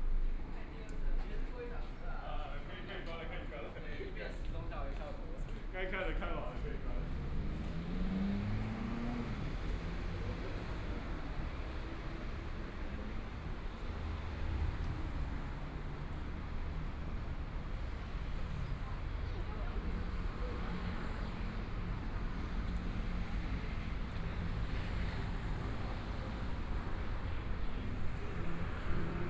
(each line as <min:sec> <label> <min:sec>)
0:00.0 Pedestrians on the road 0:29.2
0:00.0 Traffic Sound 0:29.2
0:00.0 walking on the Road 0:29.2